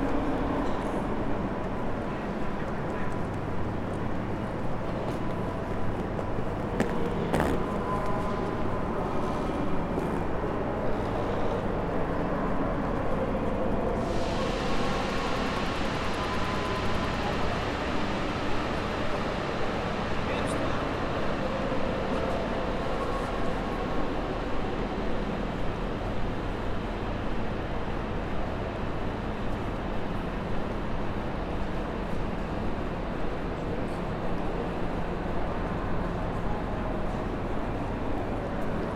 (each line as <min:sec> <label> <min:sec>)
0:00.0 trains are arriving and leaving 0:38.9